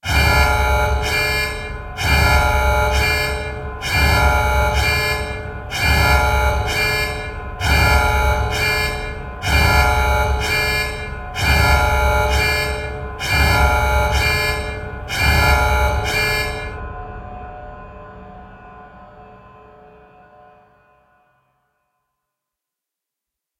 0.0s alarm sequence 16.9s

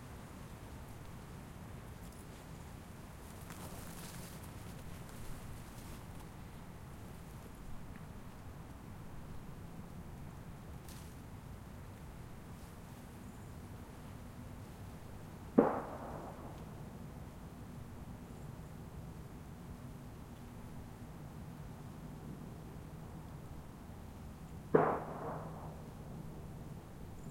0.0s Distant traffic 19.3s
0.0s Distant aircraft 27.3s
15.5s Not-so-distant gunshots 16.8s
20.2s Distant traffic 27.3s
24.7s Not-so-distant gunshots 26.1s

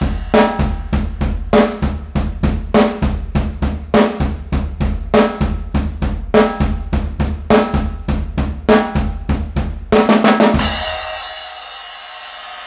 0.0s hihats 3.0s

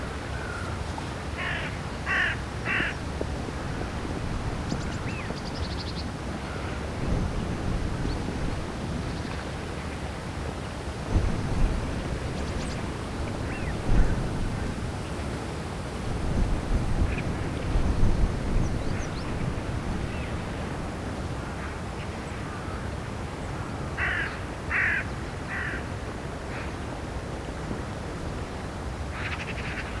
0.0s river 30.0s
0.2s birds 10.0s

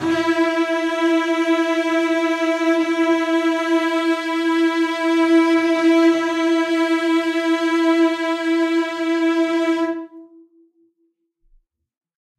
0.0s Cello Section 10.4s

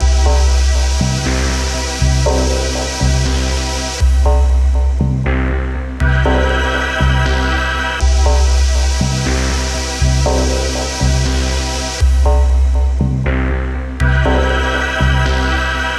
0.0s Synth 15.9s

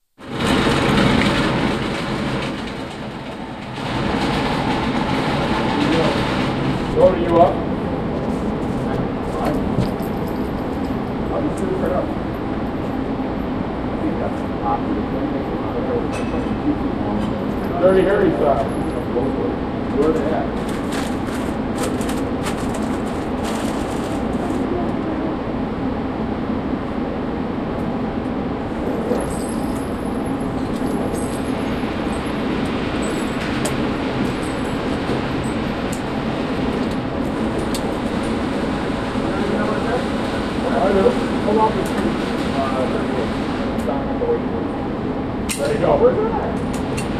5.6s guys talking in gun range booth 24.6s
39.2s guys talking in gun range booth 47.1s

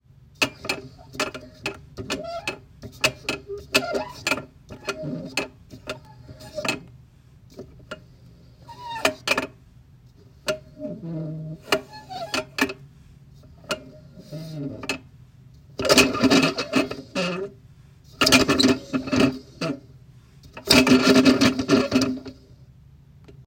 0.4s Small metal globe being spun by hand 6.9s
7.5s Small metal globe being spun by hand 9.6s
10.4s Small metal globe being spun by hand 12.8s
15.8s Small metal globe being spun by hand 17.6s
18.2s Small metal globe being spun by hand 19.8s
20.5s Small metal globe being spun by hand 22.4s

